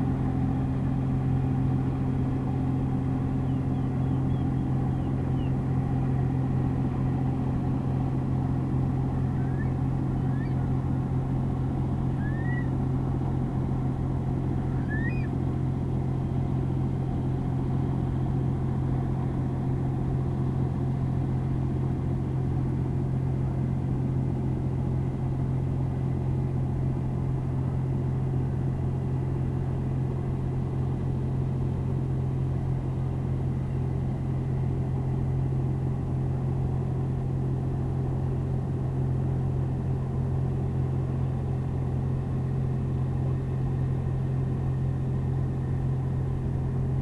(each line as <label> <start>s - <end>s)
Distant small boat returning to marina 0.0s - 20.0s
wading bird calls 3.4s - 5.6s
wading bird calls 9.0s - 10.8s
curlew 9.2s - 10.7s
wading bird calls 12.0s - 12.8s
curlew 12.1s - 12.8s
wading bird calls 14.5s - 15.4s
curlew 14.7s - 15.4s